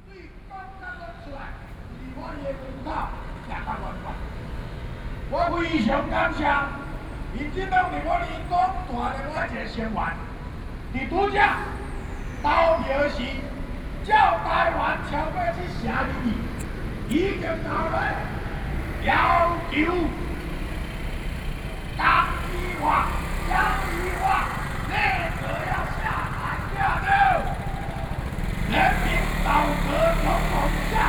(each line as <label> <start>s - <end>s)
Protest Speech 10.9s - 31.0s